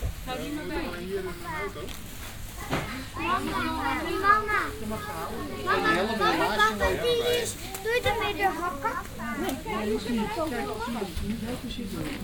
0.0s plastic protection covers that they wear 12.2s
2.6s their voices commenting the trip 12.2s

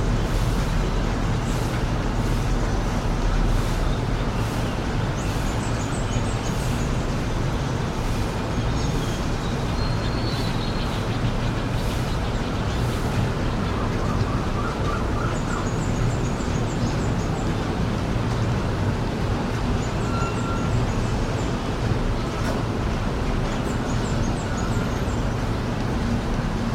0.0s rain was falling heavily 26.7s

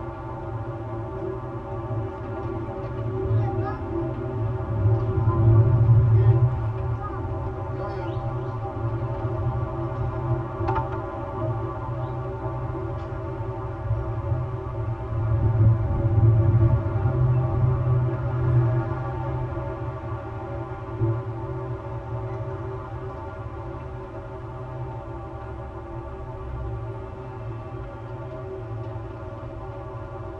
8.0s poles open to resonate with the surrounding noise 13.4s

